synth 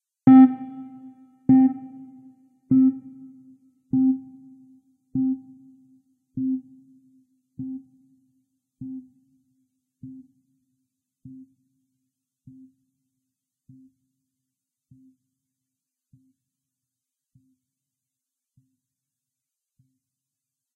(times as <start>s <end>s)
0.3s 2.1s